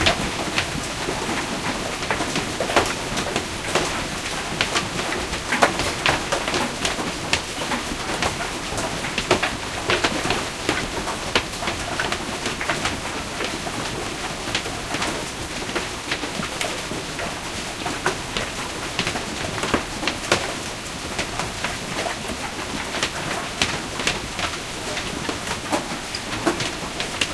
Hailstorm 0:00.0 - 0:27.3

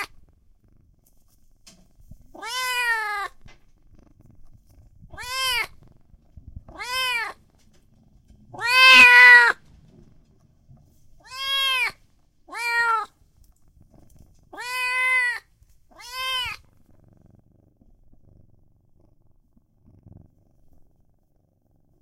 kitten meows 0:02.3 - 0:03.4
kitten meows 0:05.1 - 0:05.8
kitten meows 0:06.7 - 0:07.4
kitten meows 0:08.6 - 0:09.6
kitten meows 0:11.2 - 0:13.1
kitten meows 0:14.5 - 0:16.6

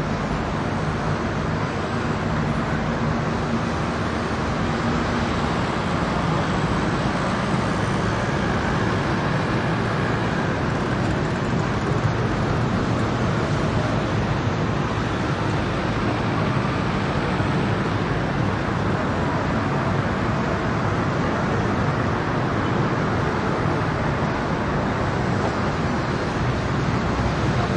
scooters mopeds throaty dense semidistant 0:00.0 - 0:27.7
traffic heavy 0:00.0 - 0:27.7

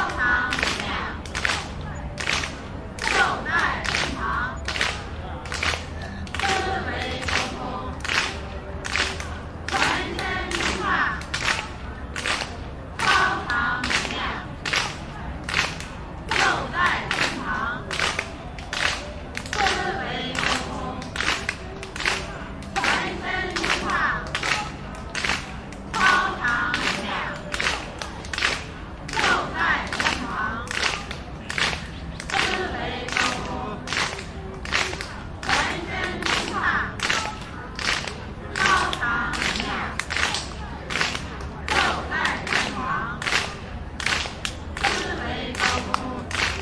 clapping group steady rythm 0:00.0 - 0:46.6

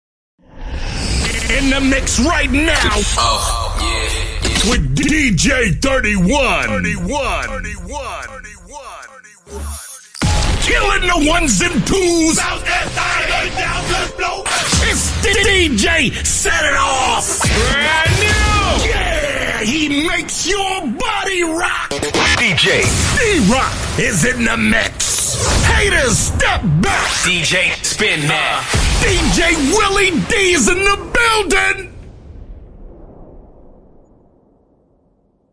DJ DROP 0:01.1 - 0:20.0
DJ DROP 0:21.8 - 0:31.1

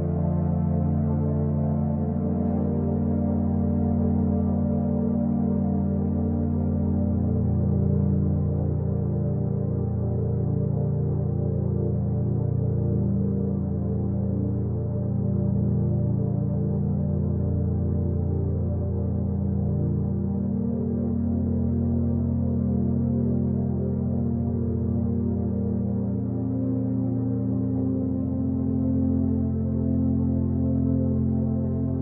Ambient pad 0:00.0 - 0:32.0

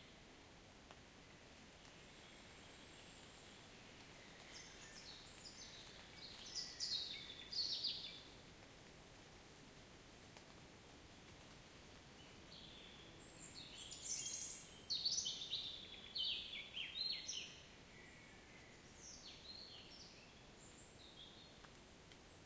birds 0:01.8 - 0:08.4
drops falling on ferns 0:04.0 - 0:06.7
drops falling on ferns 0:10.2 - 0:12.0
birds 0:12.2 - 0:22.4

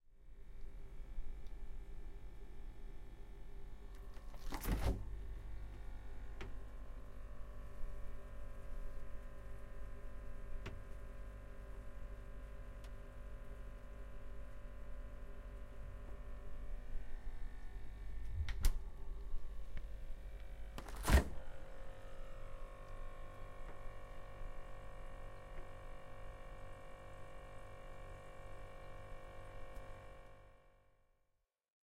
office fridge (which was strangely empty) humming 0:00.1 - 0:31.4

